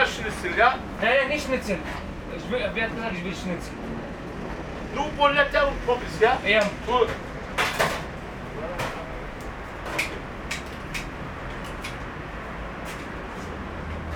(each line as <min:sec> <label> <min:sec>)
0:00.0 conversation between staff member and guest 0:09.1